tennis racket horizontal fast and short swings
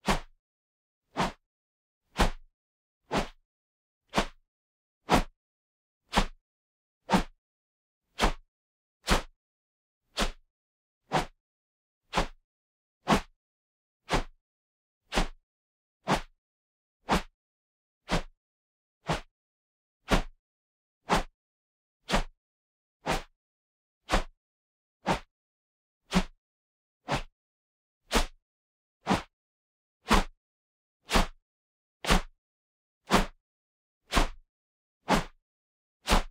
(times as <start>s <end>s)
0.0s 0.3s, 1.1s 1.4s, 2.2s 2.4s, 3.1s 3.4s, 4.1s 4.4s, 5.1s 5.3s, 6.1s 6.4s, 7.1s 7.4s, 8.2s 8.4s, 9.1s 9.3s, 10.2s 10.4s, 11.1s 11.4s, 12.1s 12.4s, 13.1s 13.3s, 14.1s 14.4s, 15.1s 15.4s, 16.0s 16.3s, 17.1s 17.3s, 18.1s 18.3s, 19.0s 19.3s, 20.1s 20.3s, 21.1s 21.3s, 23.0s 23.3s, 24.1s 24.3s, 25.0s 25.3s, 26.1s 26.3s, 27.1s 27.3s, 29.0s 29.3s, 31.1s 31.4s, 33.1s 33.4s, 34.1s 34.4s, 35.1s 35.4s, 36.1s 36.3s